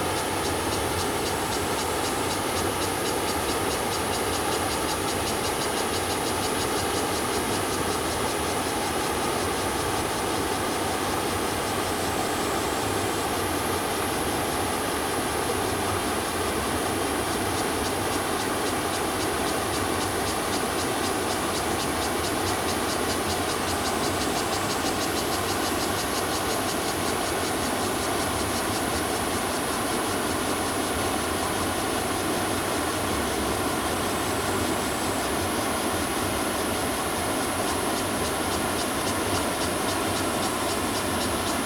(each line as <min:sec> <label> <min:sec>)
0:00.0 cicadas 0:41.6
0:00.0 stream 0:41.6